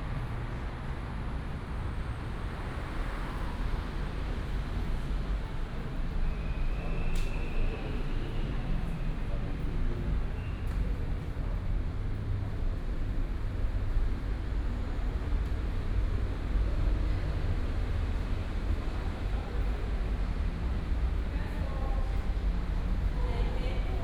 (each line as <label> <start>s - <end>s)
Walking in the underpass 0.0s - 24.0s